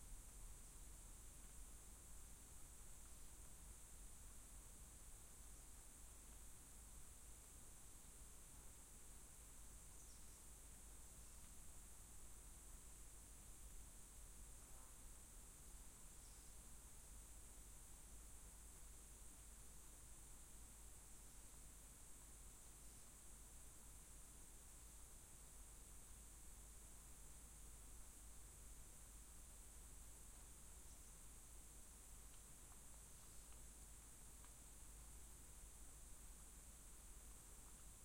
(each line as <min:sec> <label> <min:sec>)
0:00.0 Forest insects 0:38.0